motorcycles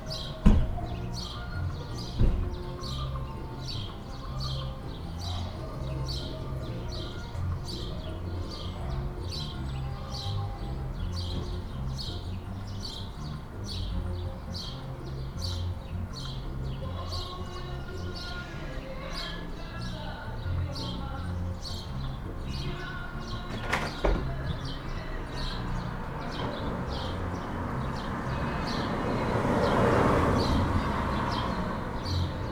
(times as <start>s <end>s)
20.0s 32.5s